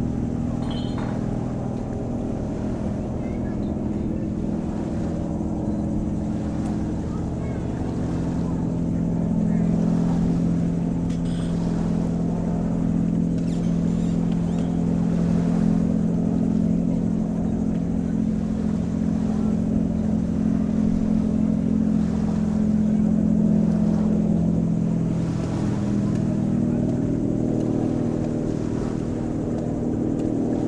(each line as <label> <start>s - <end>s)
Beach sounds 0.0s - 30.6s